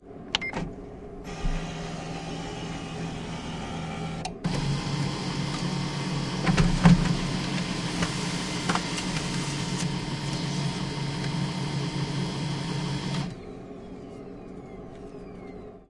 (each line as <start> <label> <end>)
0.1 ventilation 13.7
1.3 fax-printer scan and print one page 13.4